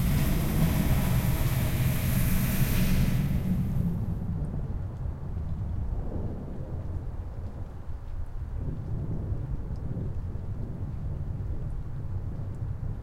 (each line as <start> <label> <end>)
0.0 wind howling 4.8
0.0 thunder 7.3